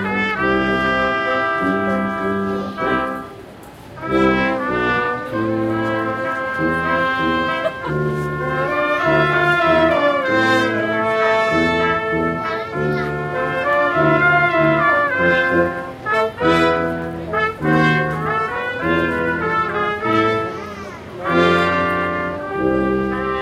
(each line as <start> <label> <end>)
0.0 street brass band playing 23.4